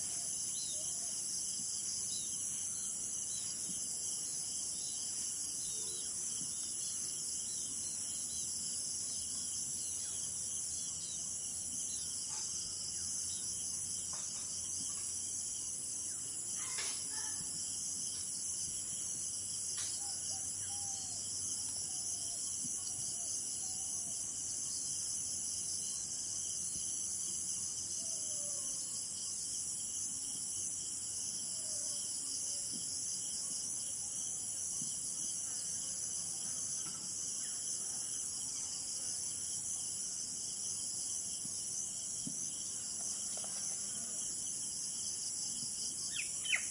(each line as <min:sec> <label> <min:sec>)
0:00.0 crickets 0:46.7